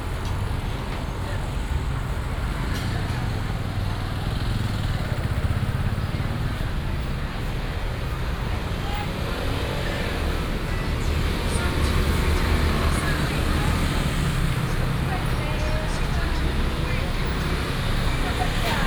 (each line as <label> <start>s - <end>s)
Many motorcycles 0.0s - 18.8s
Traffic sound 0.0s - 18.8s
Walking in the traditional market 0.0s - 18.8s